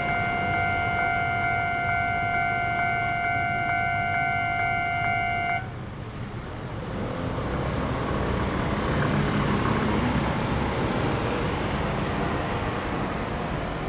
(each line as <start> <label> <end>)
0.0 Train traveling through 5.2
0.0 Railway level crossing 5.7
0.0 Traffic Sound 13.8